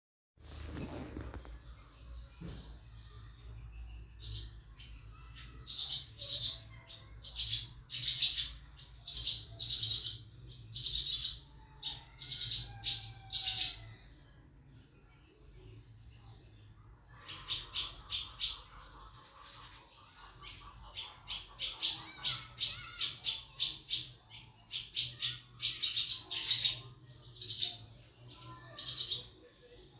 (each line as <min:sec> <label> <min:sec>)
0:17.1 large group of common swallows 0:29.4